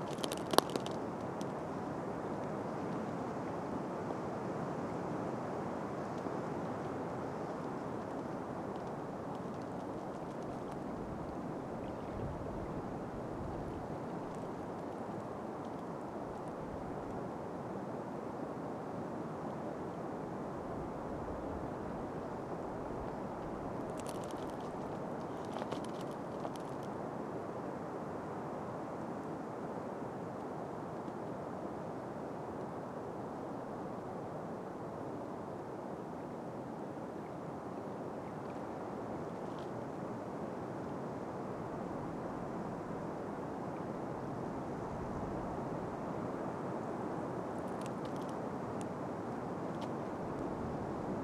windy forest rustle 0:00.0 - 0:51.2
thin ice cracking 0:00.0 - 0:01.0

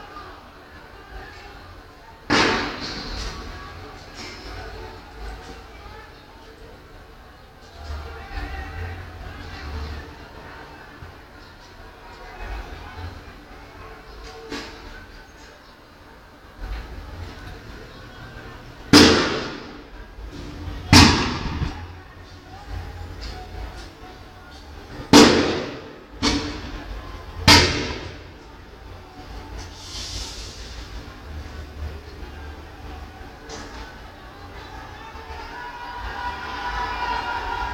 clashes between people and police 0:00.0 - 0:15.6
people started to protest 0:00.0 - 0:37.7
clashes between people and police 0:16.6 - 0:37.7

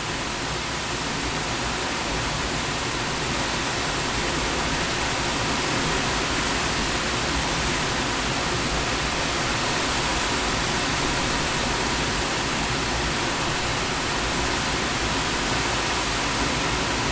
waterfall 0:00.0 - 0:17.1

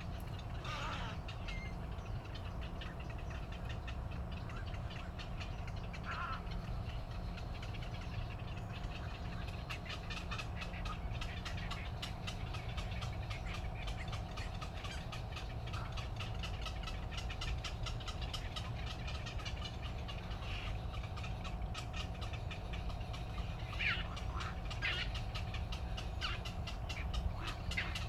Birdsong 0:00.0 - 0:28.0

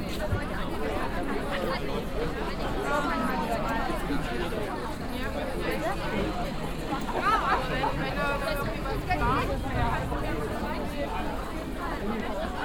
people 0:00.0 - 0:12.6

